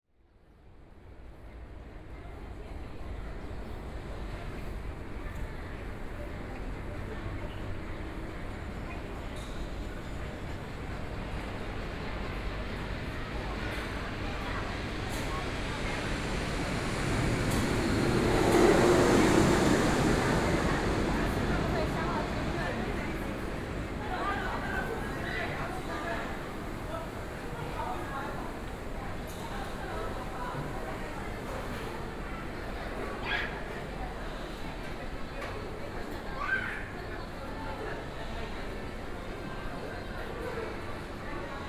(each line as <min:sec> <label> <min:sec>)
0:15.0 Aircraft flying through 0:26.4